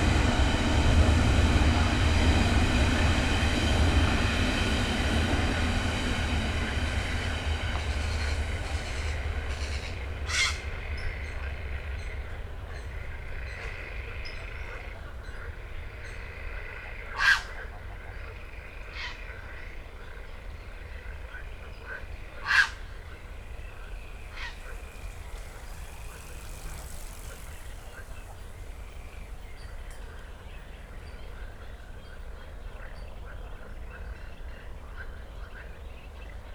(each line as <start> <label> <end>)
0.0 train 36.5
5.5 frogs 36.5
5.9 birds 36.5